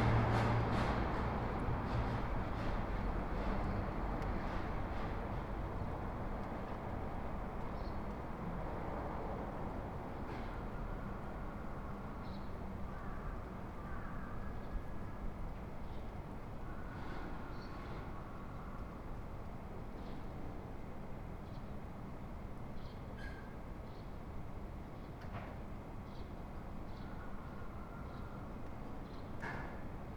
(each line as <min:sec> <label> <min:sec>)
0:00.0 delivery trucks passing 0:04.9
0:00.0 small restaurants owners cleaning the street 0:04.9
0:12.9 cawing in the very distance 0:14.6